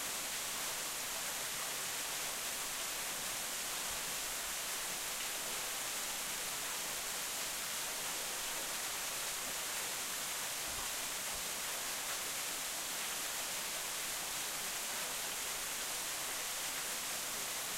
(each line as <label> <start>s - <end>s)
Small Waterfall 0.0s - 17.7s